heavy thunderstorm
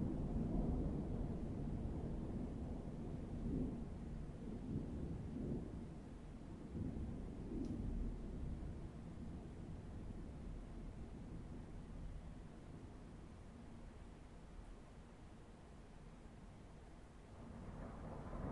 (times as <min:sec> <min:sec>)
0:00.0 0:13.3, 0:17.3 0:18.5